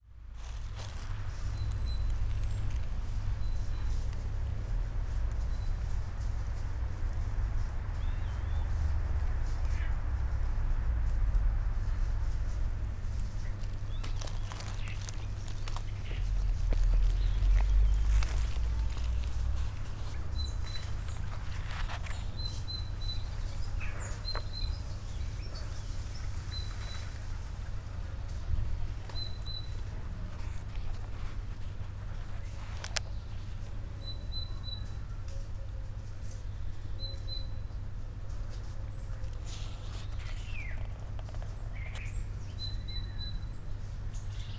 0.0s trees 44.5s
0.4s birds 44.5s

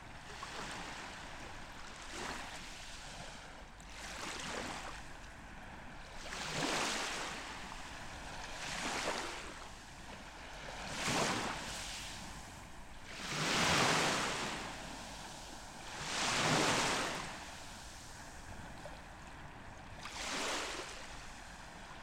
0.0s sea 22.0s

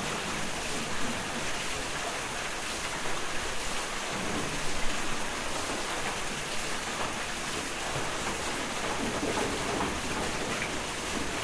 0.0s water wheel 11.4s
7.8s wooden mill wheels 11.4s

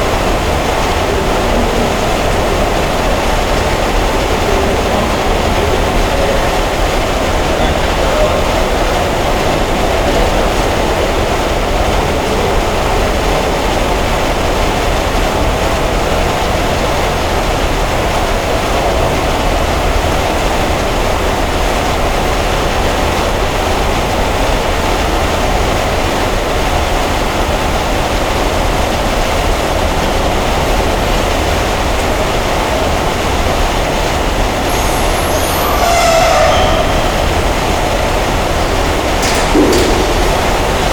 0.0s wind moves through the ventilation system 40.9s

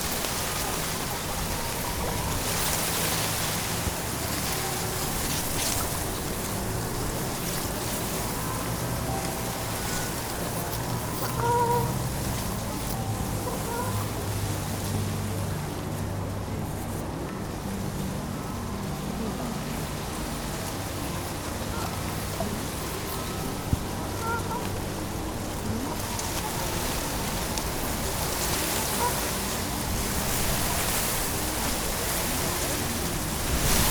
0.0s Wind in the reeds 33.9s

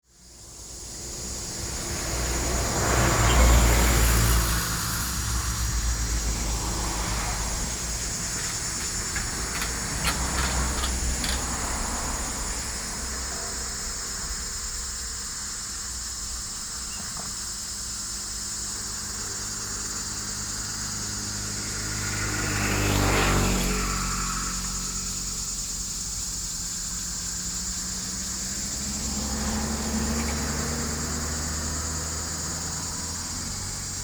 0.0s Cicadas cry 34.0s
0.1s traffic sound 34.0s

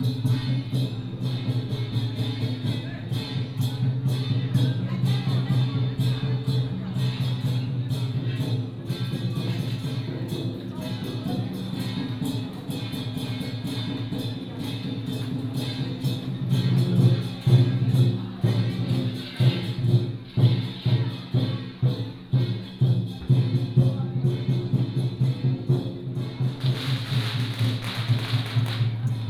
0.0s Walking in the temple 29.2s
0.0s firecracker 29.2s

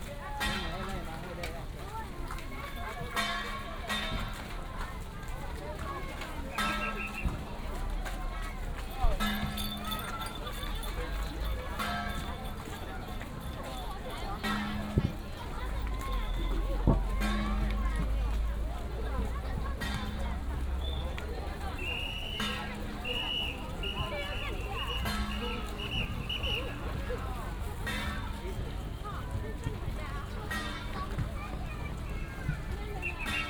0.0s A lot of people 33.4s
21.8s Whistle sound 26.7s

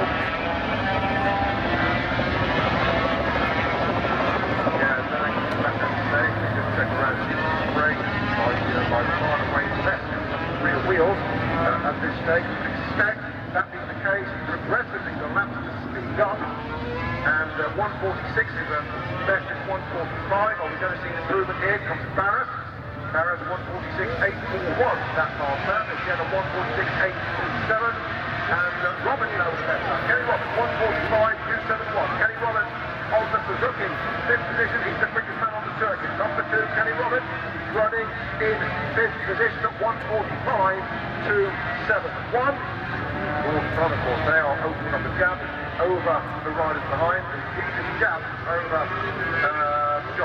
0.0s 500cc motorcycle race 50.2s
0.0s crowd noise 50.2s

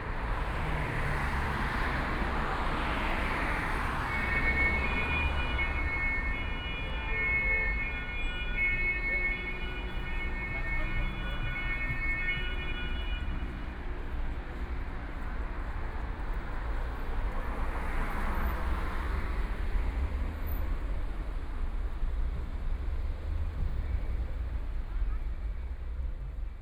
0.0s Police car 26.4s
0.0s Traffic Sound 26.6s

